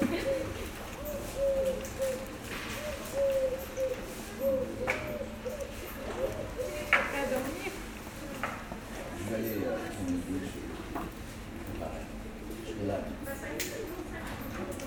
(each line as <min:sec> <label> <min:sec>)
0:04.4 Peole are discussing with coffee 0:14.8